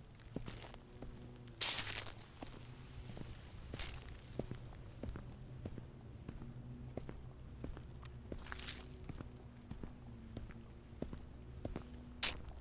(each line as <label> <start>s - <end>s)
Dry leaves 0.0s - 4.8s
Dry leaves 8.4s - 9.0s
Dry leaves 12.2s - 12.6s